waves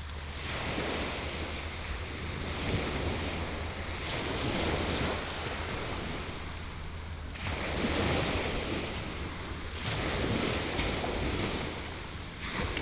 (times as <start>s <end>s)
2.6s 12.8s